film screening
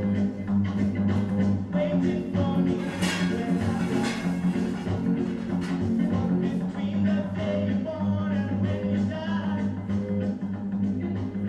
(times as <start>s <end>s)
0.3s 7.4s